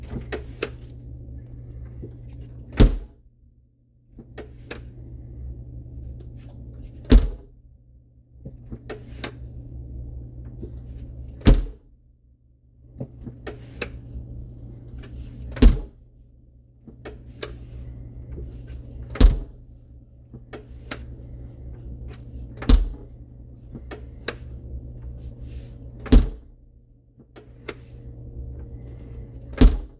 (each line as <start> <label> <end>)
0.0 large indoor freezer door opening and closing 3.3
4.1 large indoor freezer door opening and closing 7.6
8.3 large indoor freezer door opening and closing 11.9
12.8 large indoor freezer door opening and closing 29.9